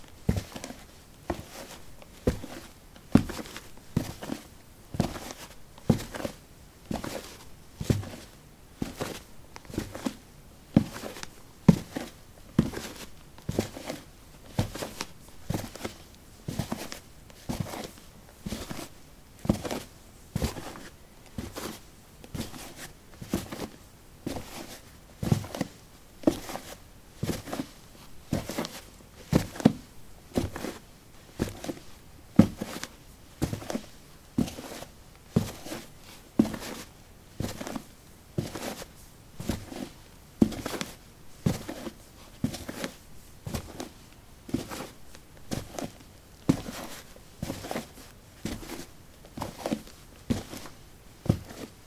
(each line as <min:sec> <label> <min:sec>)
0:30.4 Walking on soil 0:51.8